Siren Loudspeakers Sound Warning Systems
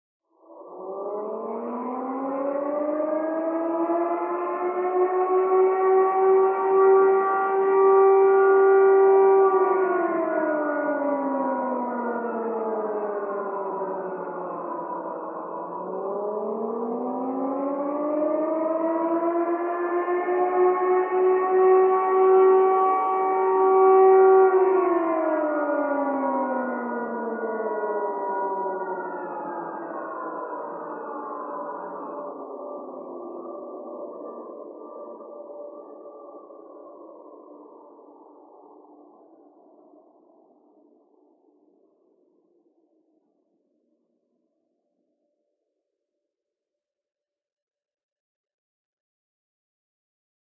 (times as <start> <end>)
0.6 39.6